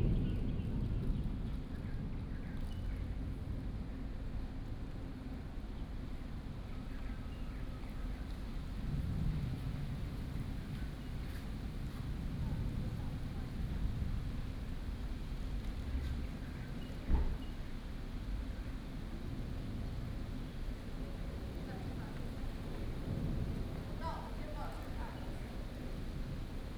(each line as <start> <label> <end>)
0.0 Thunder 2.3